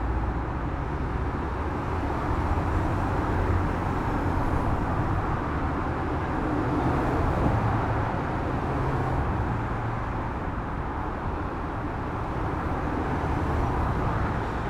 Heavy traffic in one direction 0:00.0 - 0:14.6

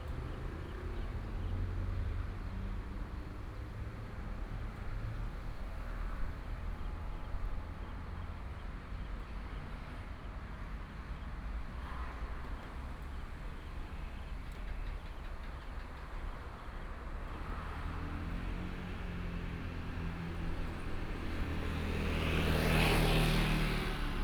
Traffic Sound 0:11.6 - 0:24.2

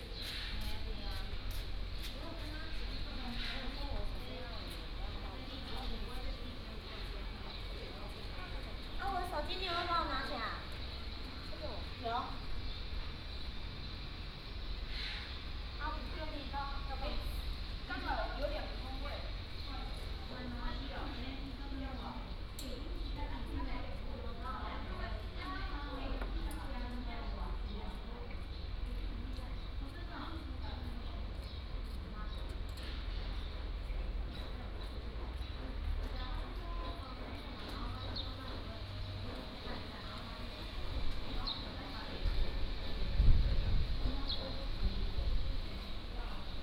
Traffic Sound 0:00.0 - 0:46.6
Birdsong 0:41.3 - 0:42.0

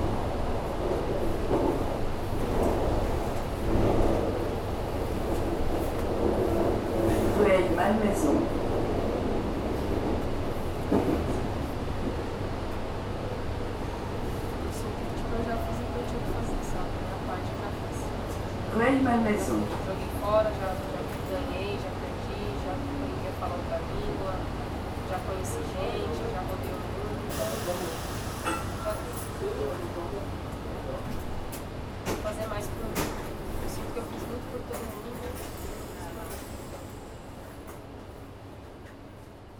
Taking the train 0:00.0 - 0:39.5

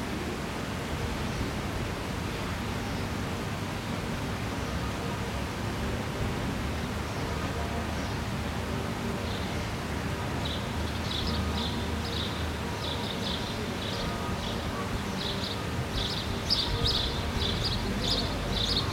little traffic in a distance 0:00.0 - 0:18.9
people passing by 0:00.0 - 0:18.9
sparrows 0:10.4 - 0:18.9

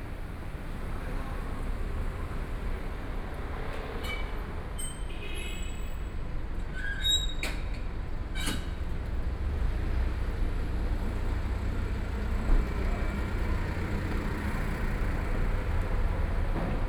Traffic Sound 0:07.8 - 0:16.8

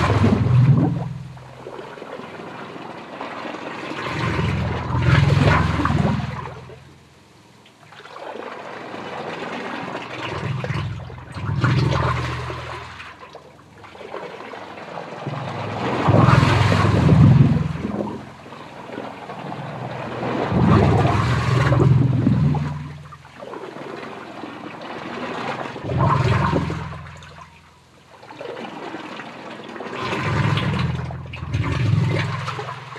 ancient sewer pipes 0:00.0 - 0:32.9

